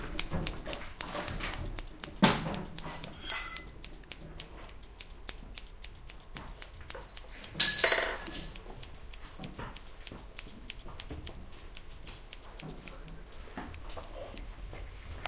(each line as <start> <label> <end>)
0.0 opening and closing scissors 14.5